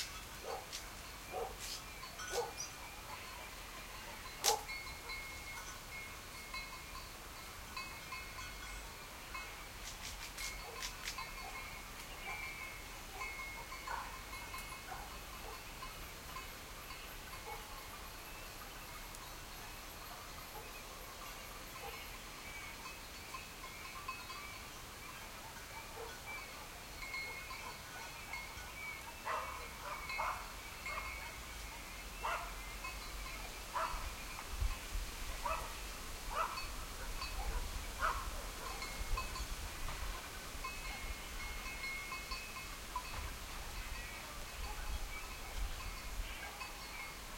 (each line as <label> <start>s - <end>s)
birds 0.0s - 5.6s
crickets 0.0s - 47.3s
leafy wind through trees 0.0s - 47.3s
sheep bells tinkle 0.0s - 47.3s
distant dogs bark 0.4s - 5.3s
distant dogs bark 10.6s - 15.7s
distant dogs bark 17.3s - 17.9s
distant dogs bark 20.0s - 21.1s
distant dogs bark 21.8s - 22.1s
distant dogs bark 25.8s - 28.5s
distant dogs bark 29.2s - 31.6s
distant dogs bark 32.2s - 32.7s
distant dogs bark 33.7s - 34.2s
distant dogs bark 35.4s - 39.0s
distant dogs bark 44.6s - 45.0s
distant dogs bark 46.3s - 46.8s